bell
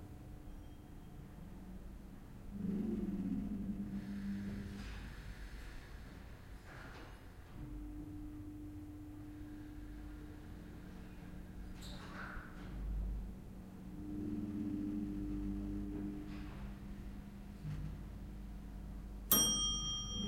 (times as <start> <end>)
19.3 20.2